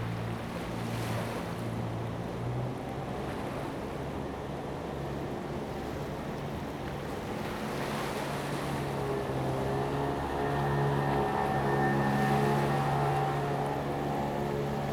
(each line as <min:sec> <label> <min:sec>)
0:00.0 waves 0:14.9